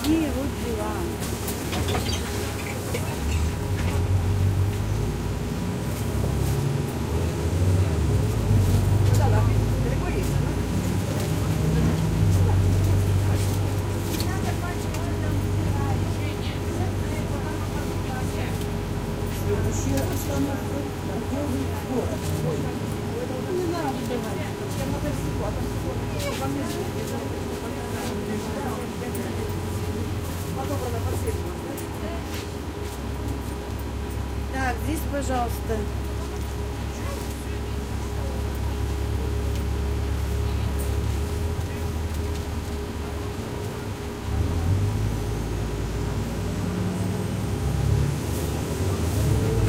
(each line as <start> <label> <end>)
0.0 Trip in the bus 5.2
34.4 Russian talk 36.0